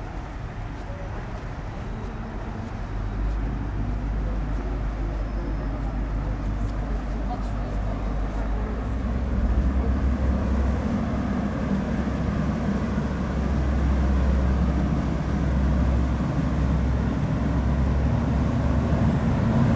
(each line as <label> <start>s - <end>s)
Young tourists discuss 0.0s - 19.1s
big tourist boat begins to navigate 0.0s - 19.7s
water of the Seine river is flowing on stairs 0.0s - 19.7s